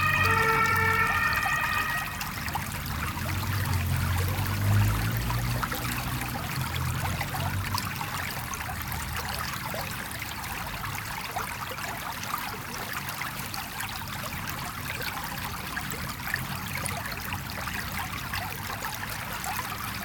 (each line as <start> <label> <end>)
0.0 Small river 20.0